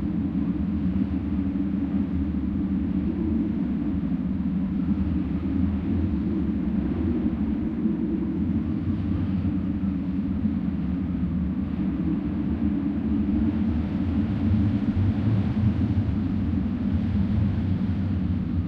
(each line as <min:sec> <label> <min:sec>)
0:00.0 Wind humming and howling in the electric wires 0:18.6